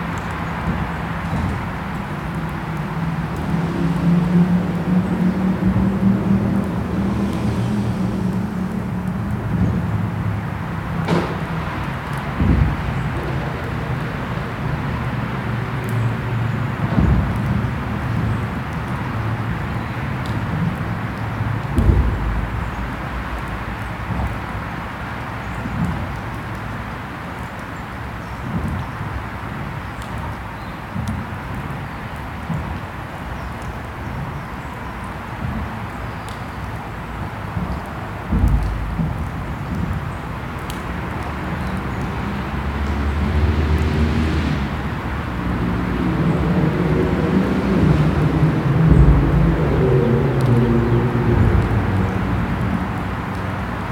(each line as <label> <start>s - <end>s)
metalic structure 21.3s - 25.0s